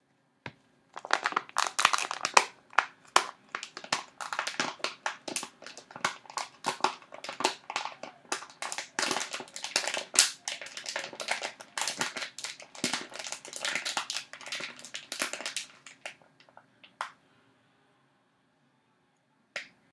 crunching a plastic cup 1.0 - 17.1

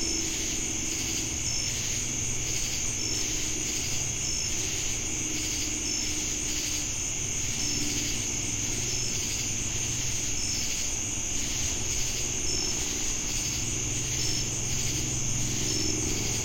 cicadas 0.0 - 16.4
crickets 0.0 - 16.4

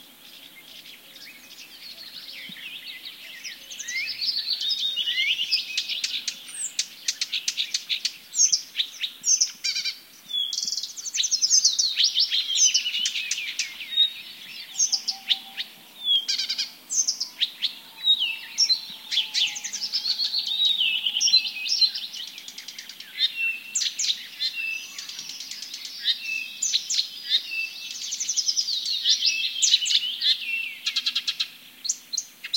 birds singing 0.0 - 32.5
distant owl 14.4 - 23.6

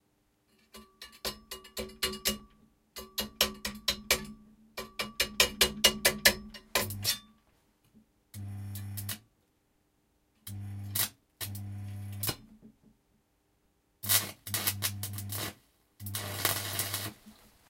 Welding sounds made by welding with the electric current 5.4 - 7.2
Welding sounds made by welding with the electric current 8.4 - 9.2
Welding sounds made by welding with the electric current 10.4 - 12.4
spark 10.5 - 12.4
spark 14.0 - 17.4
Welding sounds made by welding with the electric current 14.0 - 17.5

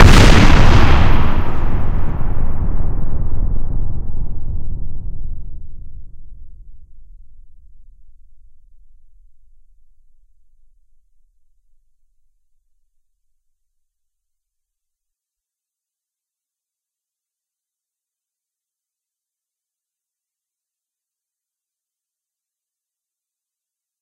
deafening impact explosion 0.0 - 9.0
rumble 0.0 - 12.3

